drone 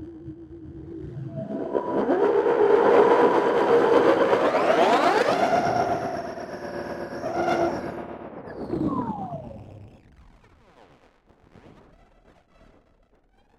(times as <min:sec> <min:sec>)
0:00.0 0:10.0